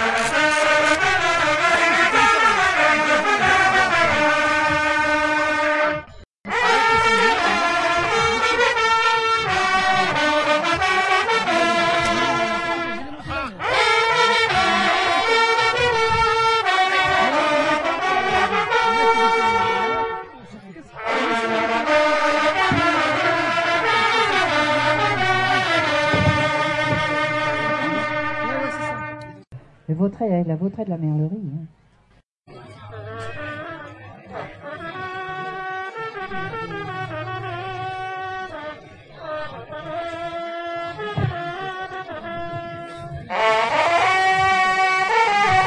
hunting horn players team 0.0 - 29.5
hunting horn players team 32.7 - 45.6

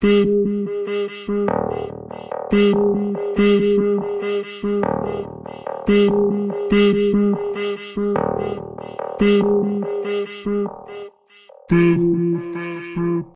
Bass 0.0 - 11.0
Voice 2.5 - 5.3
Voice 5.9 - 8.6

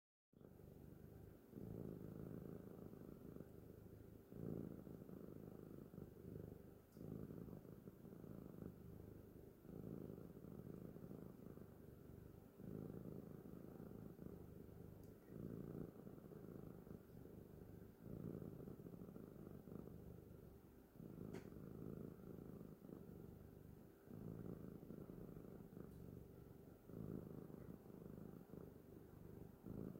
soft cat purring 0.4 - 29.9

